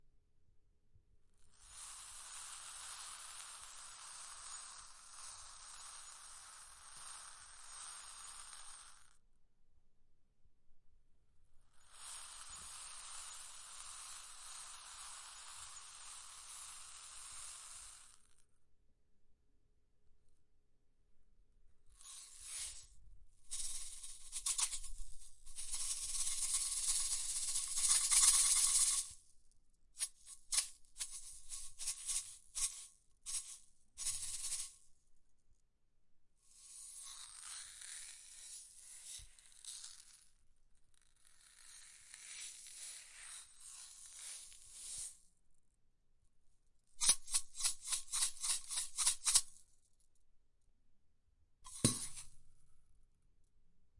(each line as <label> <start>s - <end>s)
Shaking Beads 22.0s - 22.9s
Shaking Beads 23.5s - 29.2s
Shaking Beads 30.0s - 34.9s
Shaking Beads 47.0s - 49.6s
Shaking Beads 51.7s - 52.4s